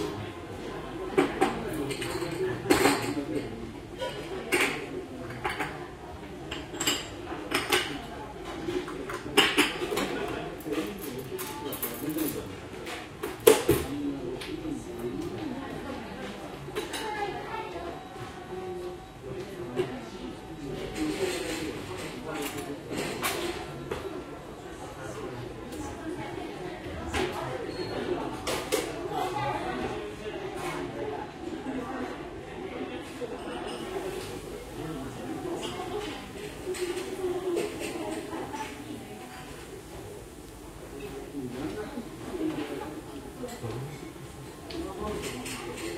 people 0:00.0 - 0:45.9

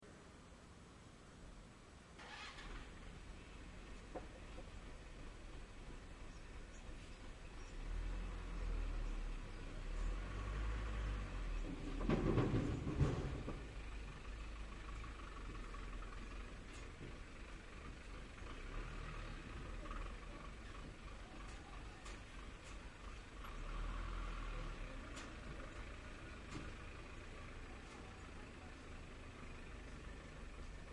Dump Truck Motor 0:07.7 - 0:30.9

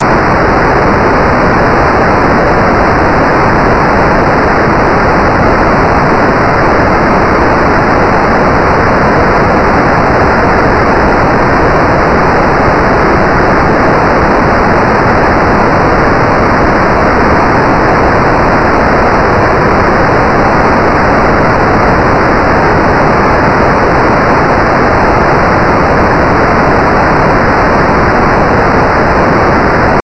noise 0:00.0 - 0:30.0

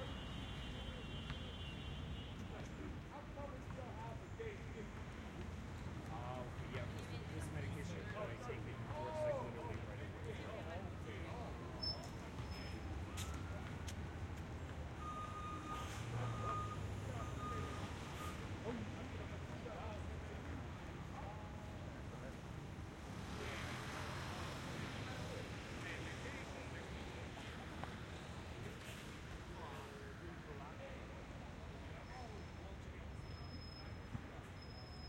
loud person on the street 0:00.0 - 0:35.0
street noise 0:00.0 - 0:35.0

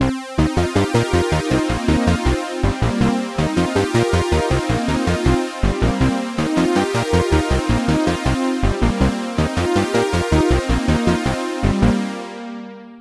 Retro melodic synthloop 0:00.1 - 0:12.5

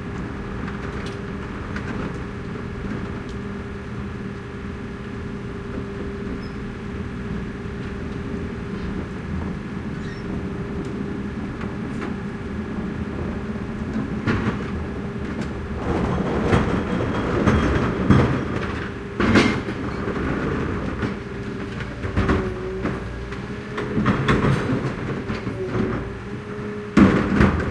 engine 0:00.0 - 0:27.7
glass recycling truck arrives 0:06.4 - 0:27.7

